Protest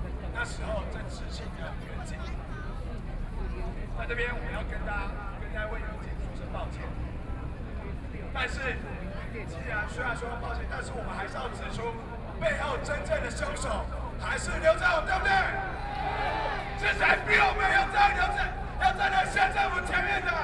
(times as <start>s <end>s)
12.4s 20.4s